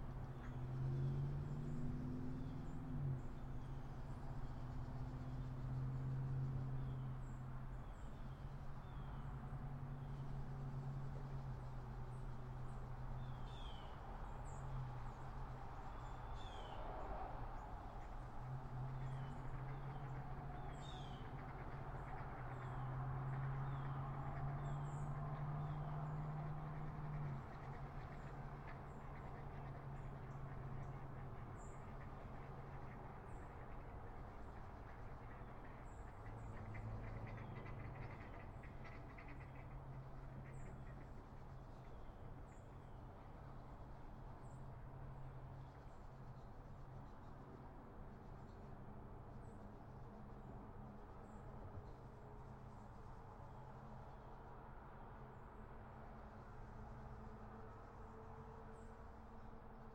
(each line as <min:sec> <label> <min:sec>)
0:00.0 road traffic noise 0:07.8
0:13.9 road traffic noise 0:59.9
0:26.8 geese 0:41.3